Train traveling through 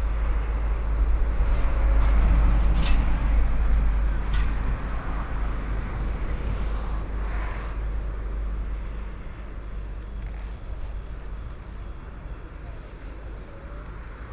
0.0 9.8

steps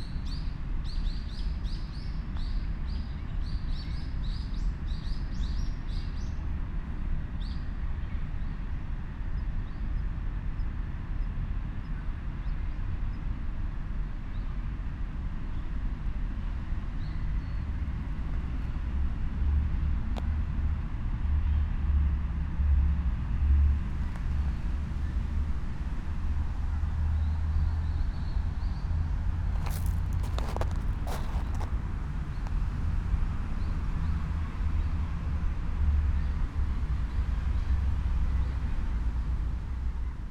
23.9 24.9, 29.5 32.6

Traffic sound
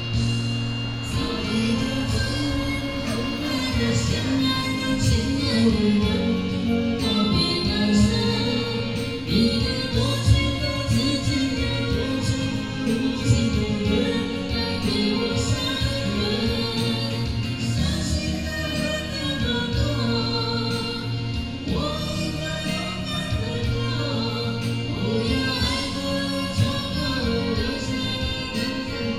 0.0 13.4

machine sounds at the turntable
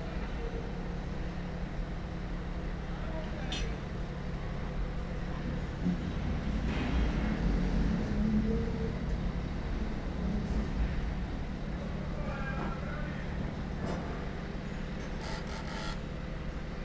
15.0 16.1

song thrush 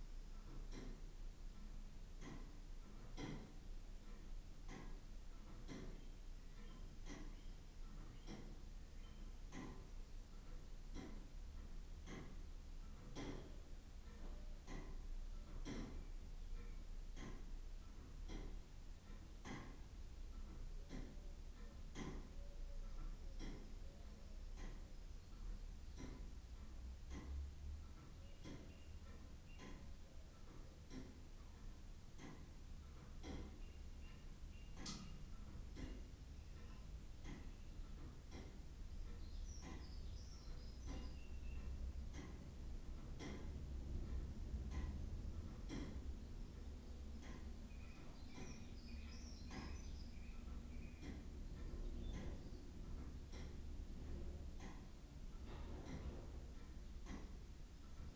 39.0 41.8, 47.7 51.0

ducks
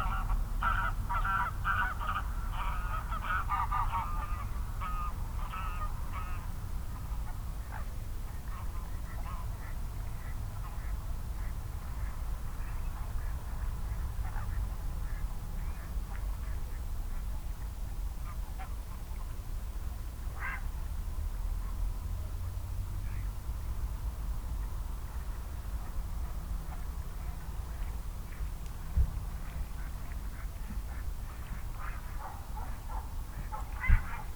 0.0 6.5, 7.2 17.4, 20.4 20.7, 29.3 34.3

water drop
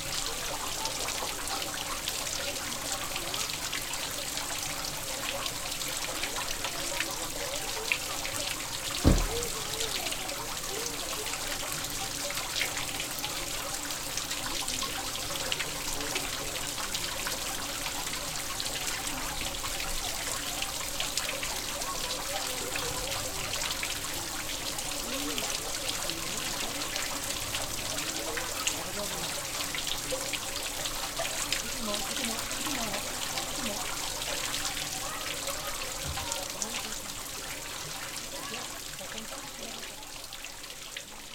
9.0 9.8

